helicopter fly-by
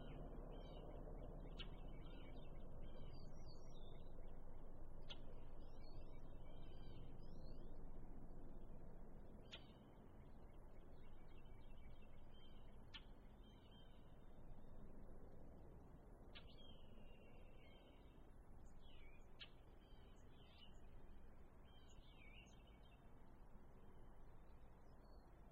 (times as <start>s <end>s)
0.0s 9.2s